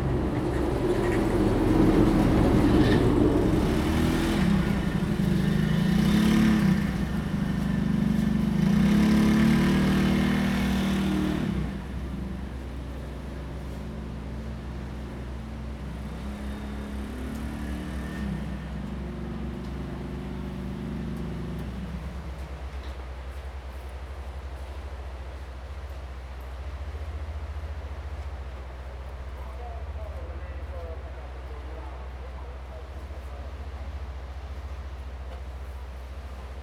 waves 0:00.0 - 0:18.7

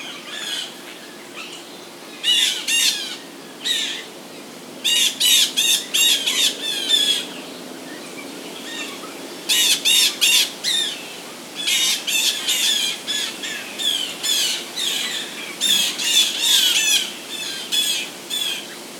flock of hungry blue jays 0:00.0 - 0:18.9

